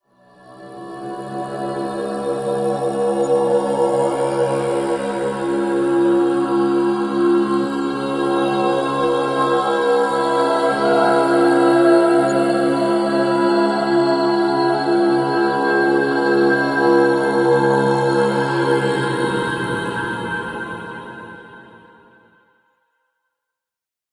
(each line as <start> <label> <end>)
0.2 Tibetan Chant 21.9
0.4 Women Singing 21.6